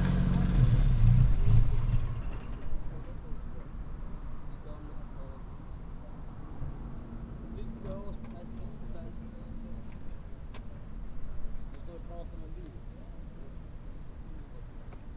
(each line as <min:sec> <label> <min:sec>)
0:00.0 moped 0:03.1